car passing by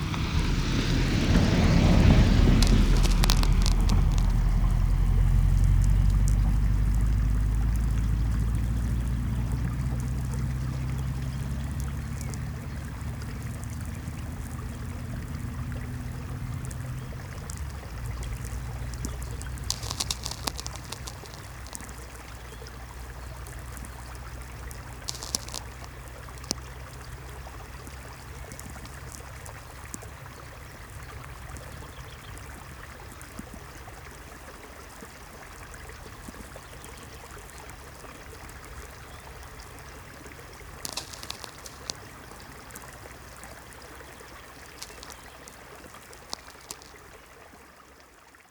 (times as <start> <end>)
0.0 26.6